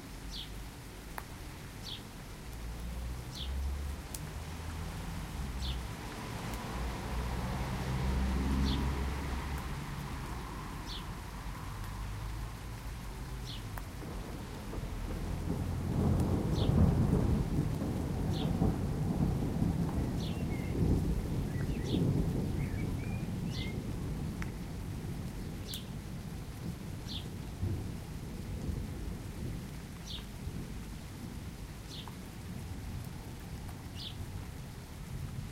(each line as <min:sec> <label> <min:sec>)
0:00.0 rain 0:35.5
0:01.8 birdsong 0:02.1
0:02.8 occasional passing car 0:17.7
0:03.3 birdsong 0:03.6
0:13.4 birdsong 0:13.7
0:13.9 rumbling thunders 0:29.8
0:20.1 birdsong 0:20.8
0:21.5 birdsong 0:23.8
0:27.1 birdsong 0:27.3
0:30.0 birdsong 0:30.3
0:34.0 birdsong 0:34.2